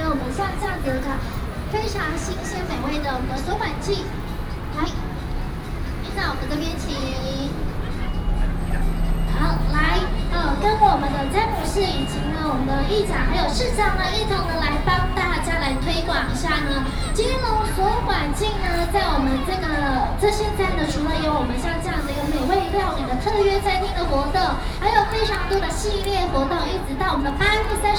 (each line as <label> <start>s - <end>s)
Traffic Sound 0.0s - 27.9s